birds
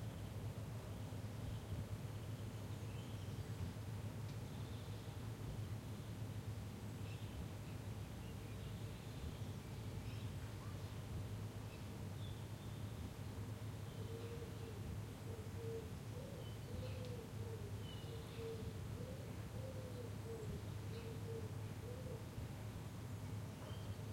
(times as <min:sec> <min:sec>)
0:13.7 0:22.3, 0:23.1 0:24.1